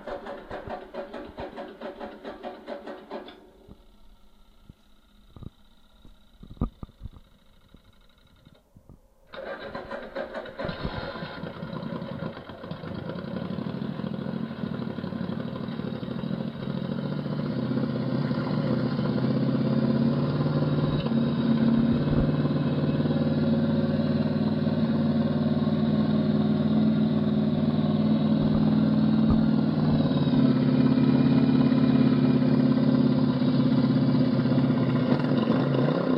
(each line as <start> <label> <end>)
0.0 fuel pump sound 8.6
0.0 Starting bike engine 8.7
0.0 idle running 8.7
9.3 Starting bike engine 36.1
9.3 idle running 36.1
26.5 fuel pump sound 30.6